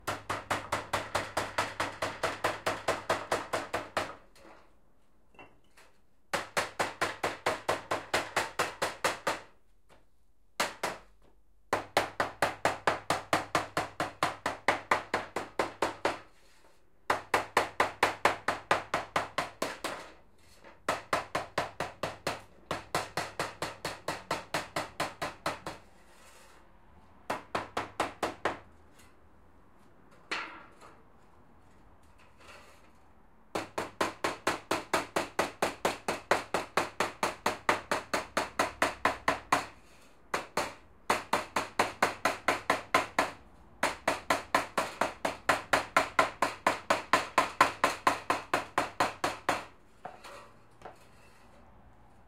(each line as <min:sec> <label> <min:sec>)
0:00.0 hammer knocking on metal 0:04.2
0:40.3 hammer knocking on metal 0:50.2